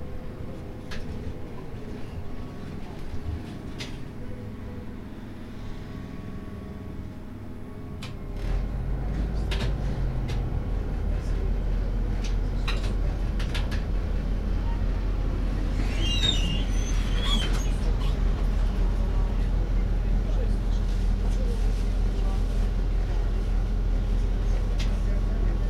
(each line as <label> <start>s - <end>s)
trolleybus ride 0.0s - 25.6s